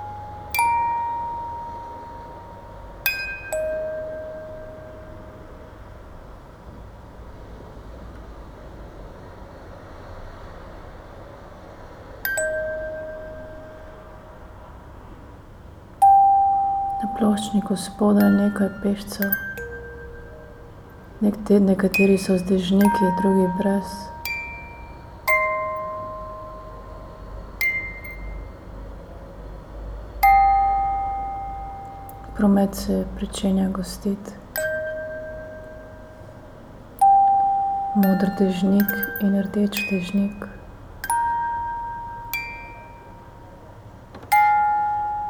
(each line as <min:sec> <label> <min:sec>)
0:17.0 posamezne kaplje dežja na pločevinasto polico 0:19.4
0:21.2 posamezne kaplje dežja na pločevinasto polico 0:24.2
0:21.2 močan veter v krošjah dreves 0:24.2
0:37.9 posamezne kaplje dežja na pločevinasto polico 0:40.6